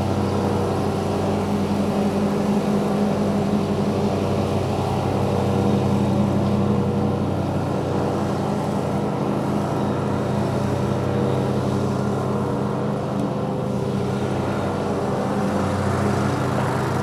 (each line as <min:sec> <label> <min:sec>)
0:00.0 man mowing a lawn on a tractor 0:17.0